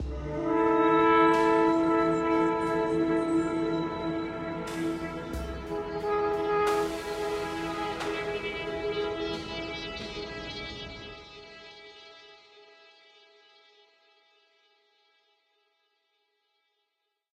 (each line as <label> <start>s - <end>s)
drone 0.0s - 12.4s